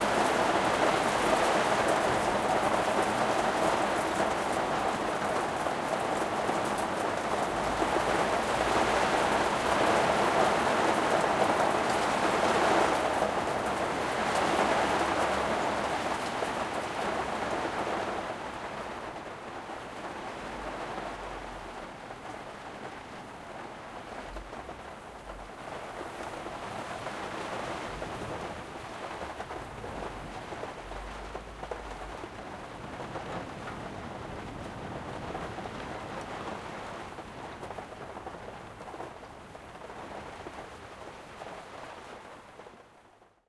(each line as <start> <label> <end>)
0.0 Rain on the roof of my attic 43.4